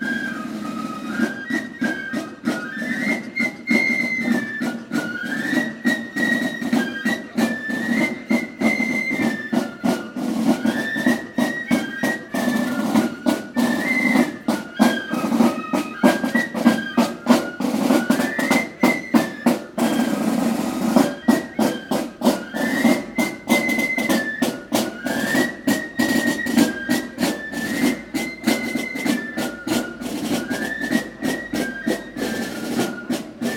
Drum & Fife band setting out past the Church, playing loudly 0:00.0 - 0:33.5

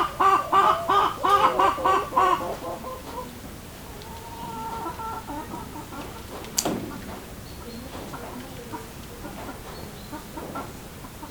Hens 0:00.0 - 0:11.3

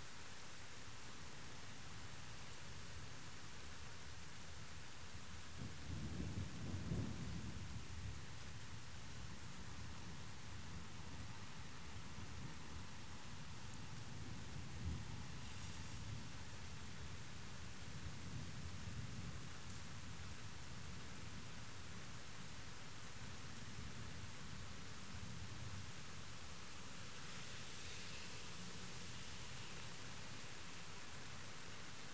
rain on the plastic roof of partytent 0:00.0 - 0:32.1
car passing by on wet pavement 0:15.1 - 0:16.5
car passing by on wet pavement 0:26.8 - 0:31.7

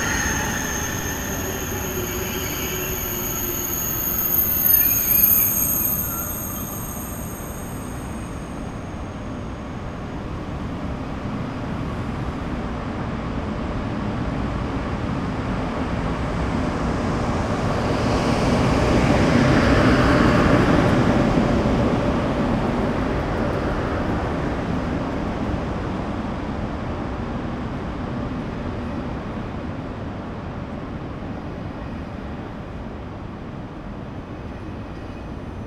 arrival of TGV on platform 0:00.0 - 0:11.2

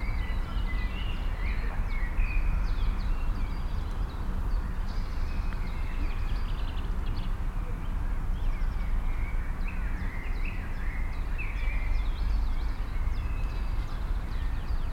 birds 0:00.0 - 0:14.9

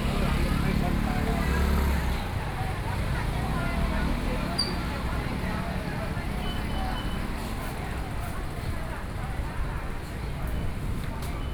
Walking through the traditional market 0:00.0 - 0:11.5

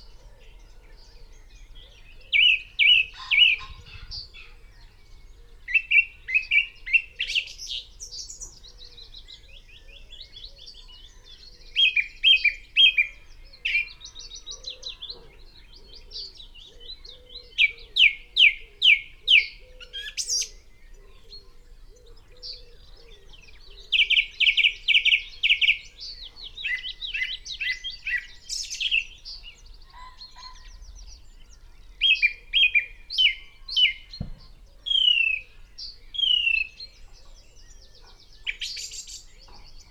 pheasant 0:00.0 - 0:39.9
red-legged partridge 0:00.0 - 0:39.9
song thrush 0:00.0 - 0:39.9
willow warbler 0:00.0 - 0:39.9
blue tit 0:00.5 - 0:39.9
crow 0:03.1 - 0:04.6
crow 0:13.6 - 0:18.0
wood pigeon 0:32.2 - 0:35.6
blackcap 0:32.6 - 0:37.4
dunnock 0:34.2 - 0:35.2

